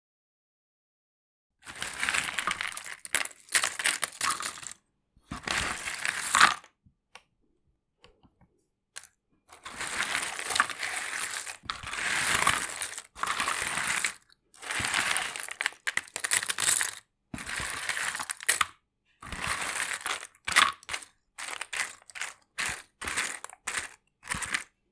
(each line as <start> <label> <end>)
1.6 Handling jigsaw puzzle pieces in a cardboard box 6.7
9.0 Handling jigsaw puzzle pieces in a cardboard box 24.8